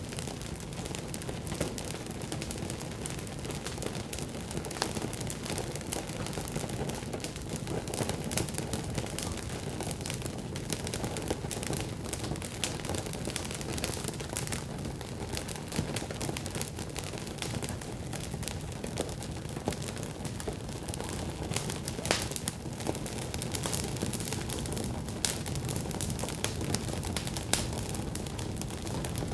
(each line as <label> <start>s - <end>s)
flames crackle 0.0s - 29.3s